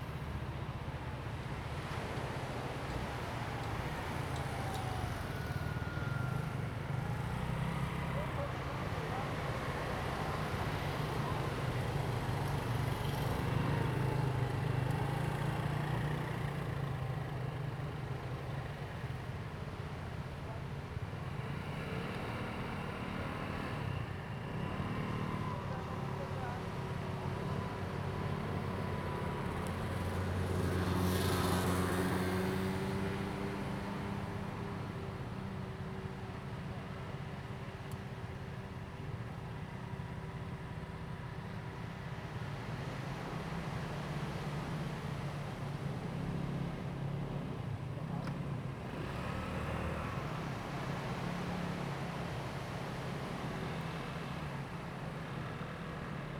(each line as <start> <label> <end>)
0.0 Traffic Sound 56.3
0.0 waves 16.1
18.5 waves 56.3